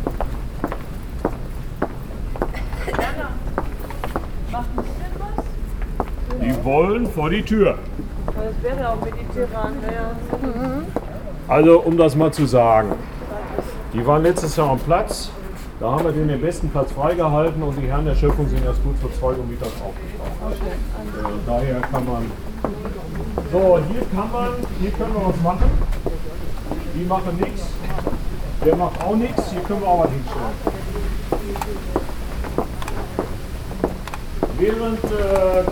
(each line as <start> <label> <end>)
0.0 guided tour 35.7